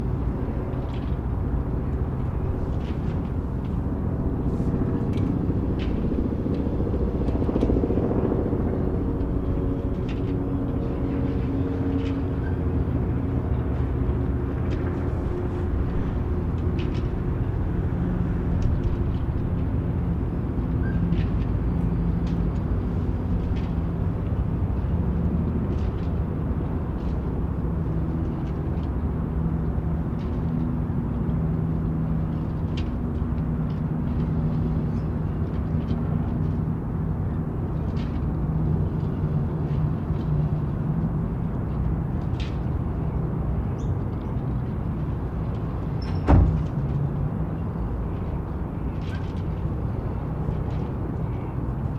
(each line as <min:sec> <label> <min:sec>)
0:00.0 boats 0:51.9
0:00.0 helicopters 0:51.9
0:00.0 wind 0:51.9
0:08.6 cars 0:51.9